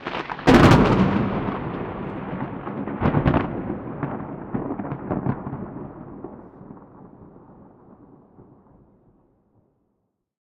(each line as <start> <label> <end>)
0.0 Thunder 9.5